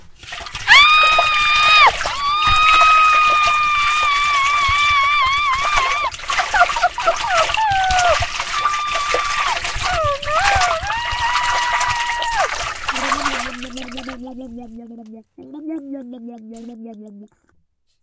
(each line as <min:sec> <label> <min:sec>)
0:00.0 splashing water 0:16.8
0:00.0 blubbing water 0:17.3
0:00.7 female voice screaming 0:13.7